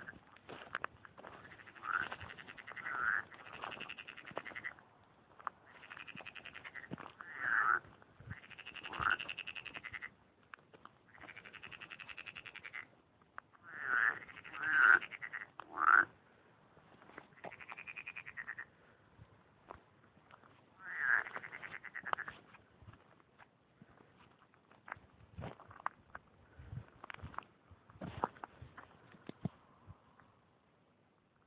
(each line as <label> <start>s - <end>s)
footsteps on dry grass 0.0s - 9.7s
frogs croaking 0.0s - 10.2s
frogs croaking 11.0s - 16.2s
frogs croaking 17.1s - 18.8s
footsteps on dry grass 19.6s - 25.8s
frogs croaking 20.7s - 22.6s